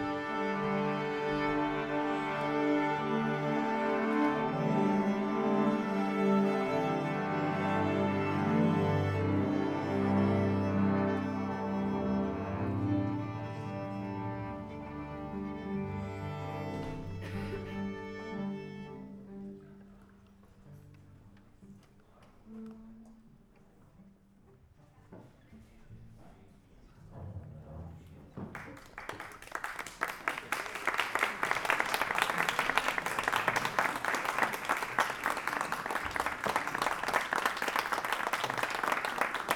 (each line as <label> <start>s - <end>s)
amateur orchestra 0.0s - 24.0s